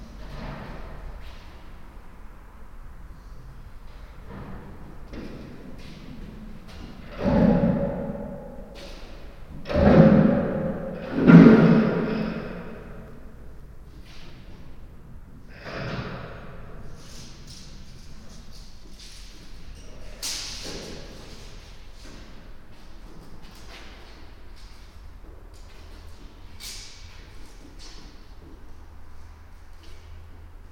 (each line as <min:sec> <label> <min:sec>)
0:04.2 big metal plate being moved 0:13.1